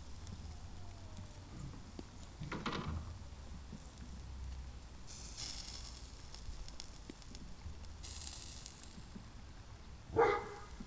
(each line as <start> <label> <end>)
10.1 dog 10.8